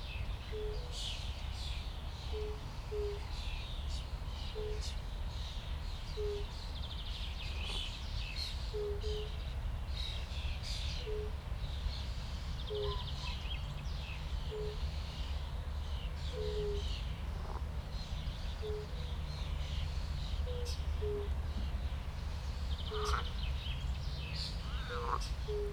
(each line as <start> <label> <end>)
12.7 frogs 13.3
16.2 frogs 17.8
22.8 frogs 23.4
24.5 frogs 25.7